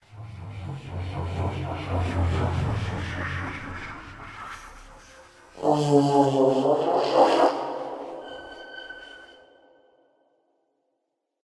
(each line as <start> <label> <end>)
0.0 ambient alien sound 9.8